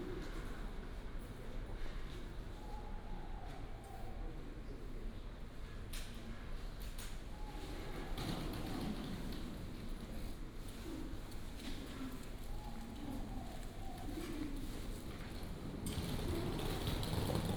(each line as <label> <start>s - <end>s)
Luggage 15.1s - 17.5s